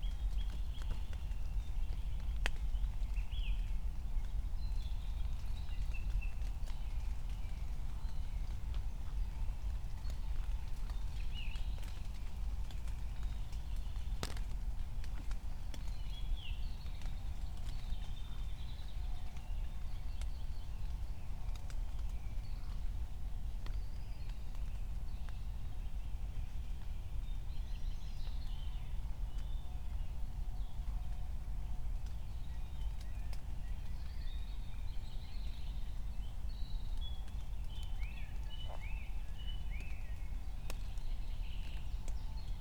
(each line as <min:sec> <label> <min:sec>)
0:04.2 raindrops 0:28.4
0:29.0 raindrops 0:42.6